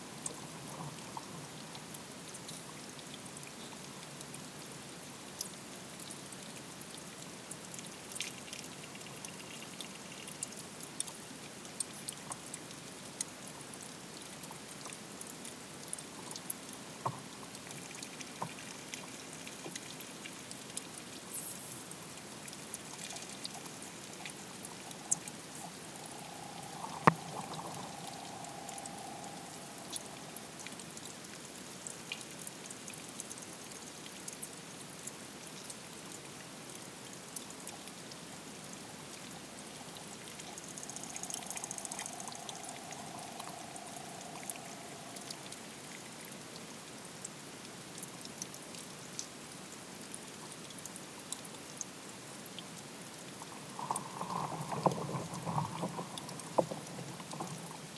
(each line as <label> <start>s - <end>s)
underwater creatures 22.9s - 31.7s
underwater creatures 39.4s - 46.4s
underwater creatures 53.4s - 57.9s